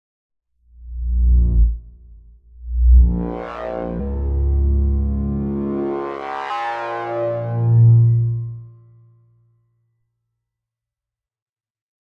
bass 0:00.6 - 0:09.3

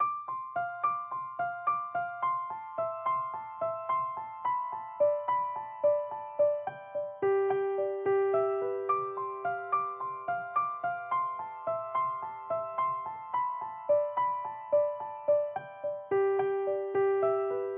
piano 0:00.0 - 0:17.7

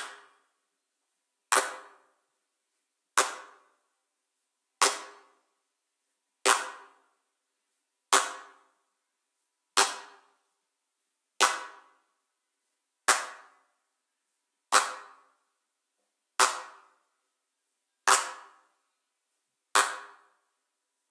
handclap 0:01.5 - 0:02.1
handclap 0:03.2 - 0:03.7
handclap 0:04.8 - 0:05.3
handclap 0:11.4 - 0:12.0
handclap 0:13.0 - 0:13.6
handclap 0:14.7 - 0:15.3
handclap 0:16.4 - 0:17.0
handclap 0:18.1 - 0:18.6
handclap 0:19.8 - 0:20.3

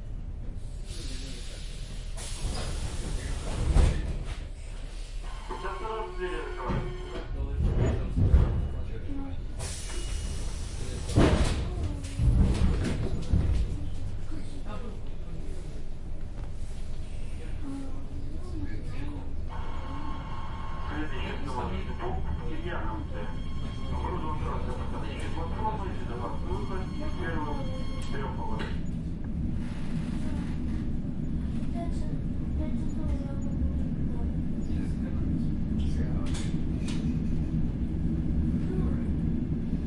train noise 0:00.0 - 0:39.8
traffic 0:26.4 - 0:39.8

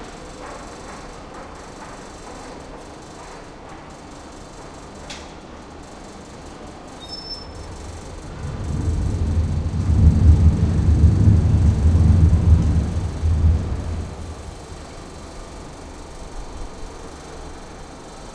fan with an interesting scrambling pattern 0:01.1 - 0:18.3

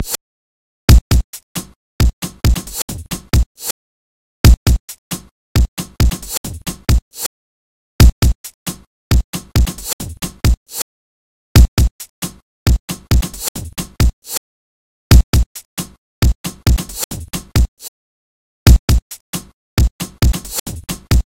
breakbeats 0:00.9 - 0:03.8
breakbeats 0:04.4 - 0:07.3
breakbeats 0:08.0 - 0:10.8
breakbeats 0:11.6 - 0:14.4
breakbeats 0:15.1 - 0:17.9
breakbeats 0:18.7 - 0:21.3

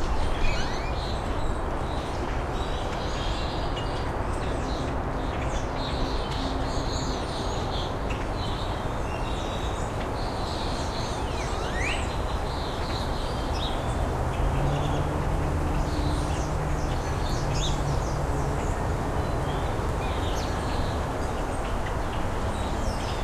birds 0:00.0 - 0:23.2
Highway noise 0:11.5 - 0:23.2

